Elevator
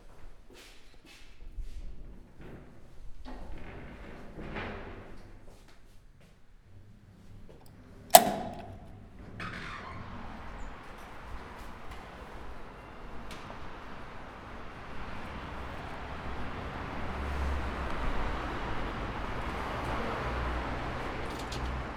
6.6 21.9

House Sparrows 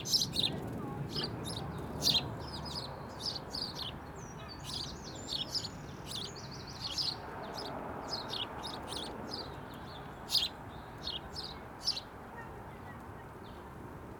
0.0 9.6

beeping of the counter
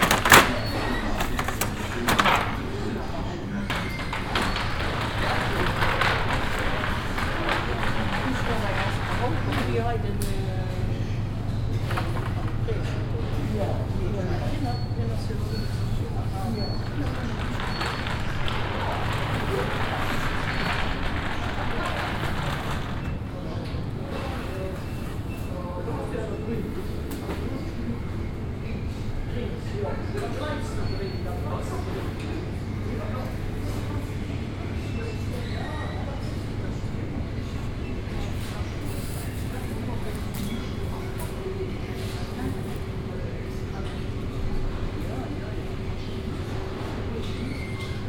0.0 9.6, 13.6 23.2

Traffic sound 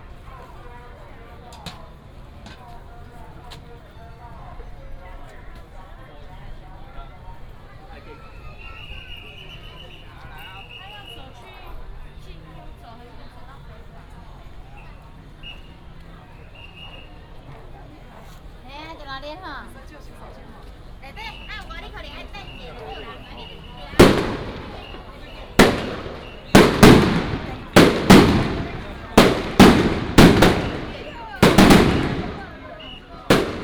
19.2 33.6

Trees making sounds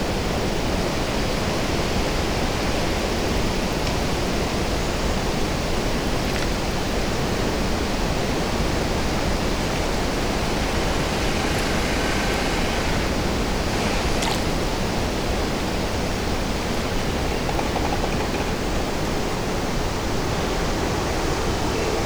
7.8 16.6

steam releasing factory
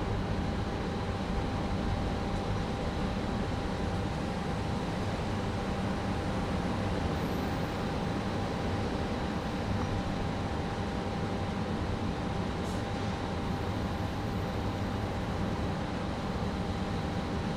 12.6 13.9

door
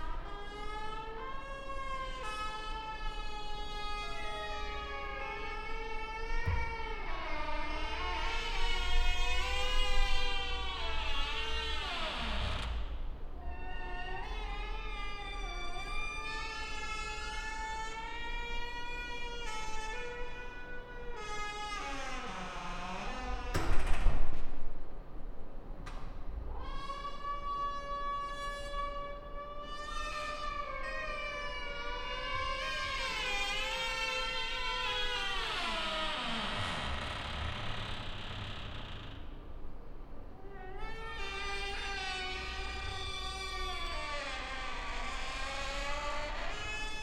6.4 6.8, 23.4 24.4

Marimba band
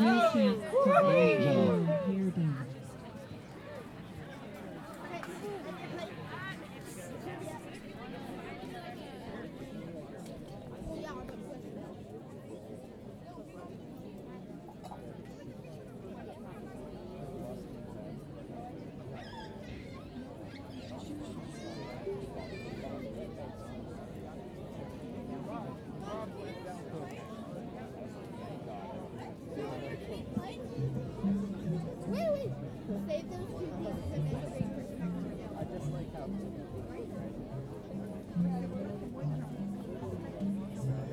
30.8 41.1

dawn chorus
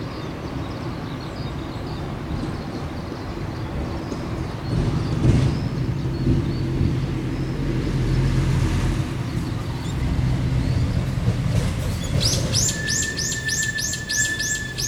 12.0 14.8

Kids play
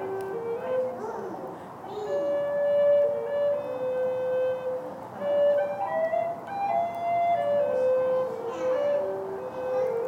0.6 2.6, 7.3 10.0

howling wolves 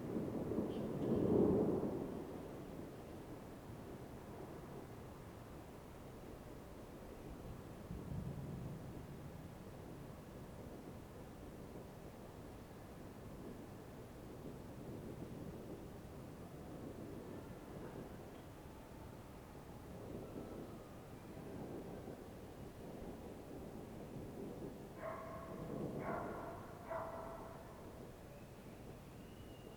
25.0 29.7

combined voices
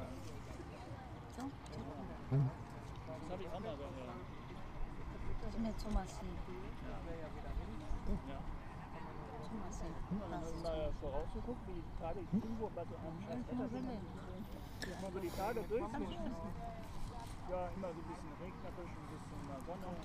12.1 16.6

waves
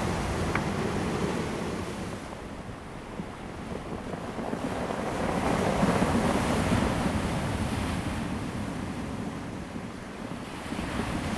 0.0 2.4

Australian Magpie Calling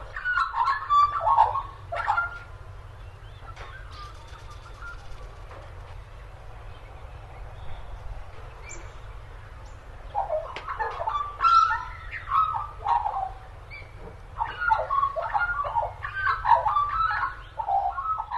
0.1 2.5, 10.1 18.3

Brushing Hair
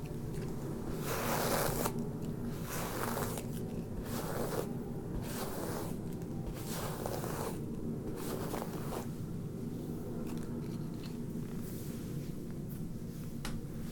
0.8 9.2

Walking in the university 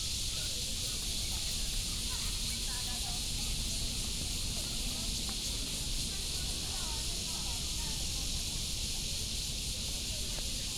0.0 7.3

